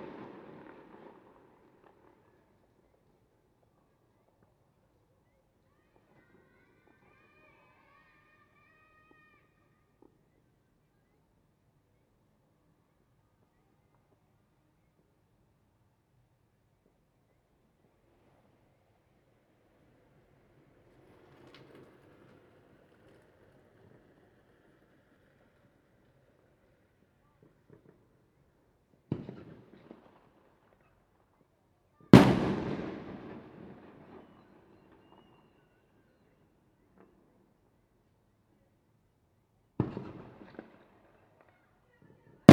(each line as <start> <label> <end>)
0.0 Firecrackers 5.0
17.8 Firecrackers 38.1
32.2 Fireworks sound 34.4
39.6 Firecrackers 42.5